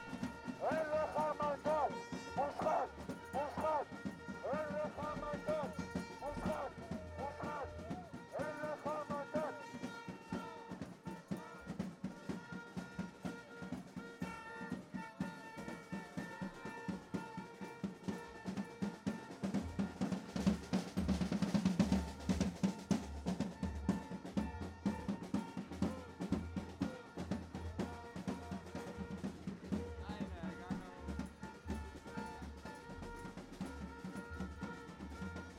Tens of thousands of demonstrators 0.0 - 35.5

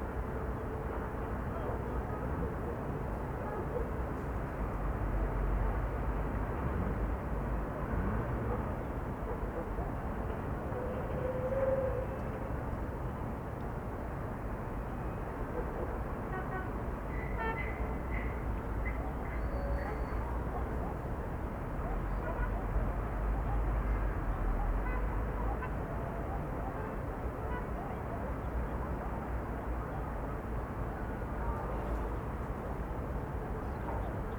Murmur of the city 0.0 - 34.3

